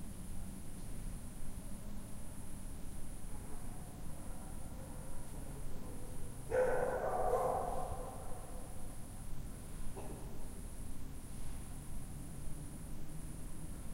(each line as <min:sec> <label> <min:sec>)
0:06.5 stray dogs 0:08.6